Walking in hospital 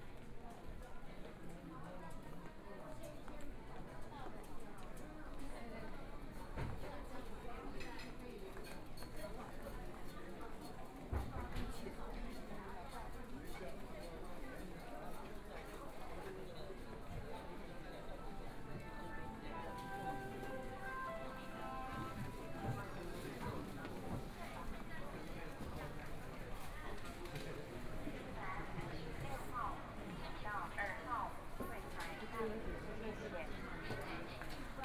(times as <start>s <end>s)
16.9s 27.9s